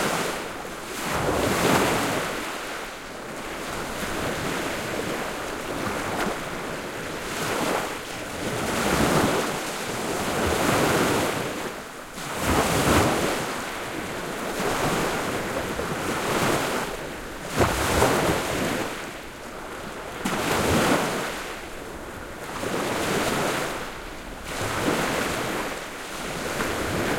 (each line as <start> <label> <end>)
0.0 Bigger waves on the beach 27.1